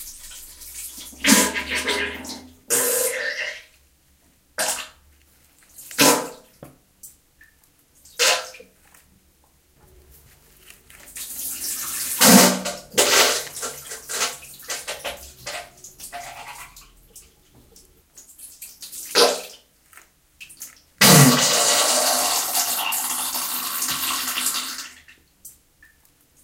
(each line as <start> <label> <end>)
10.4 Diarrhea sounds 17.1